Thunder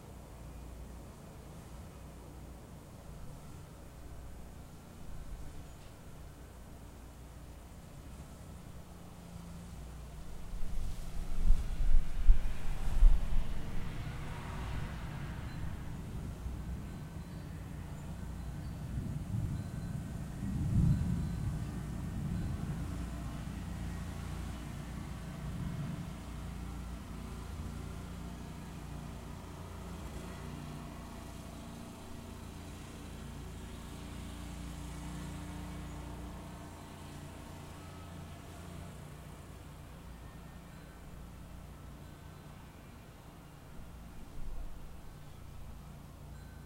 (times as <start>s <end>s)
20.4s 22.8s